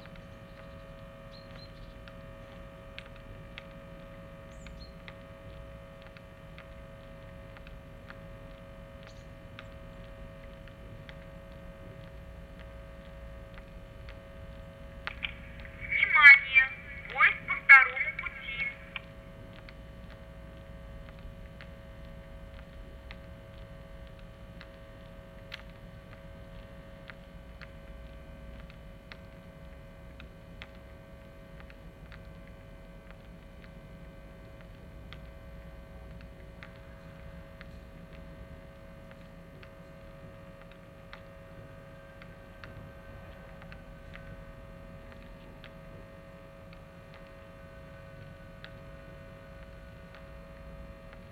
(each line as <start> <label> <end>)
15.7 female voice warning about trains 19.0